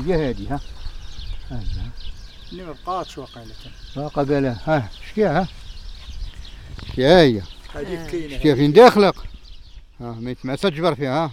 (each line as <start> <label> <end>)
0.0 habitants du hameau parlent 11.3